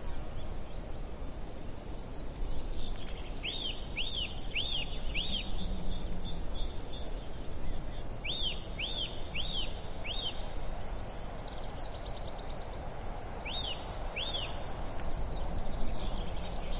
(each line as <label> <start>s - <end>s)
birds singing 0.0s - 16.7s
soft murmur of wind on the trees 0.0s - 16.7s